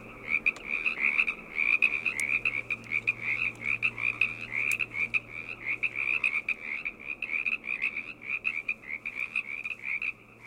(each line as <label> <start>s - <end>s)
frogs 0.0s - 10.4s